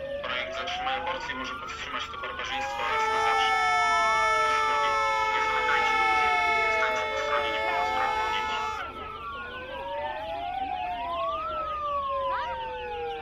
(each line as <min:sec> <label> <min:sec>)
0:00.0 Sirens 0:13.2
0:02.3 Anti-abortion protestors 0:09.1